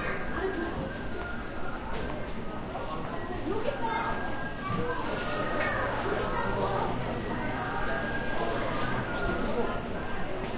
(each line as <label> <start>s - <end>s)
people in the background 0.0s - 10.5s